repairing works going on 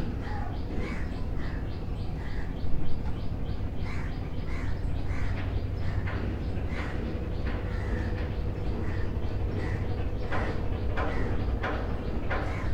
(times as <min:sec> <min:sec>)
0:04.9 0:12.7